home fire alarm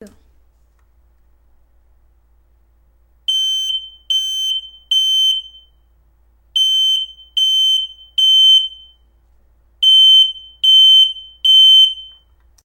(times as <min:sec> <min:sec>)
0:03.3 0:05.9, 0:06.5 0:09.2, 0:09.8 0:12.4